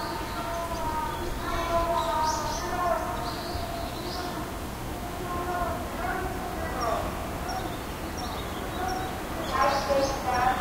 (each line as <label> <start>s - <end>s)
Birds 0.0s - 10.6s
cicadas 0.0s - 10.6s
Speaker Broadcast 5.0s - 7.6s
Speaker Broadcast 8.7s - 10.6s